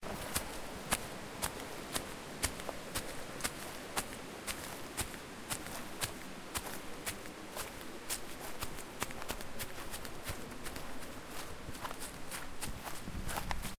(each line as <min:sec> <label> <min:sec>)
0:00.0 heavy steps on grass 0:13.7